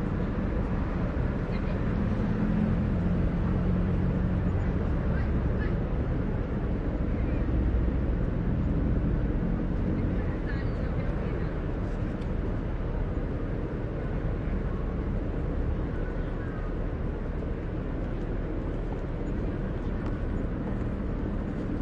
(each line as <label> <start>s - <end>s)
buses 0.0s - 21.8s